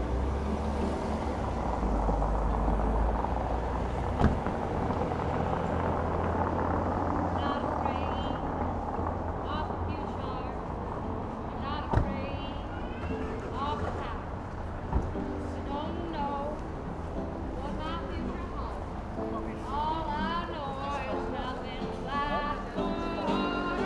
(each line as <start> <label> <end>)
0.0 cars 23.8
0.0 visitors of the new weekend market 23.8
11.4 singer 14.4
17.5 singer 23.8